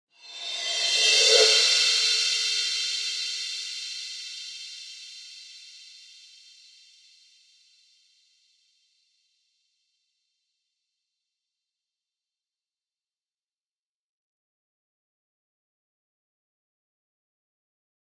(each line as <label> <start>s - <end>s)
Reverse Cymbals 0.1s - 6.8s